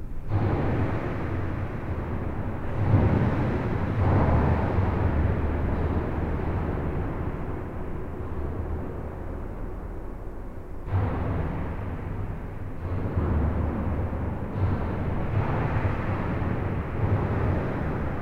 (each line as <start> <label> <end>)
10.8 Trucks make enormous explosions 18.2